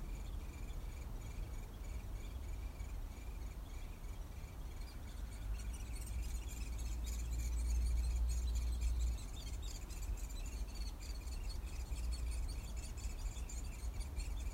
Downy woodpecker chicks 0:00.0 - 0:14.5

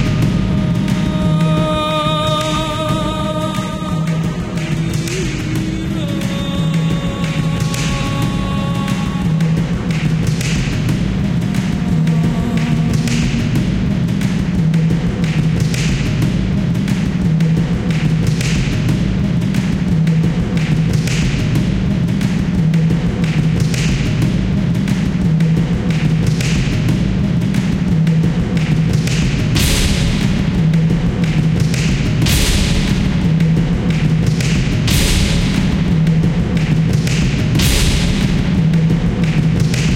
dark vocal 0:00.0 - 0:15.2
dark vocal 0:29.4 - 0:39.9

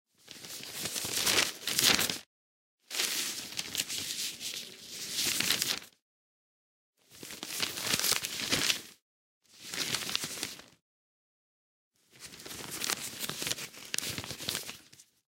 turning pages of a newspaper or journal 0:00.2 - 0:02.3
turning pages of a newspaper or journal 0:02.9 - 0:06.0
turning pages of a newspaper or journal 0:07.1 - 0:10.8
turning pages of a newspaper or journal 0:12.1 - 0:15.2

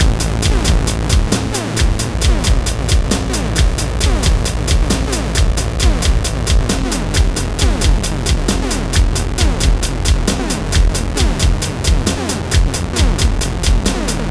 Video Game music 0:00.0 - 0:14.3

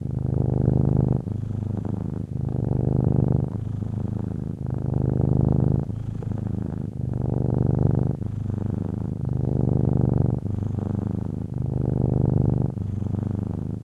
Cat Purring 0:00.0 - 0:13.8

